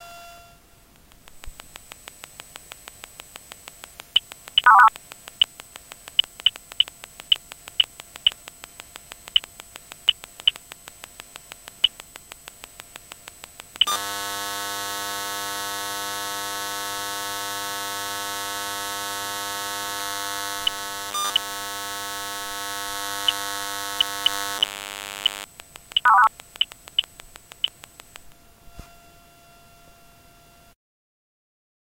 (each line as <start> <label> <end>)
1.5 buzz 30.8
4.6 bleep 4.9
26.0 bleep 26.3